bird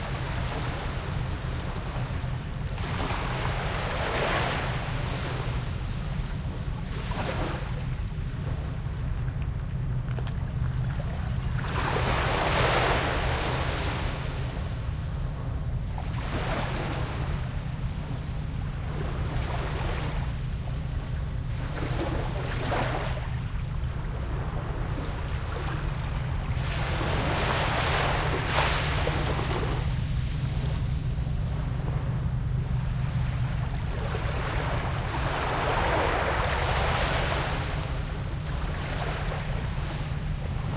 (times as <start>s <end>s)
38.9s 40.7s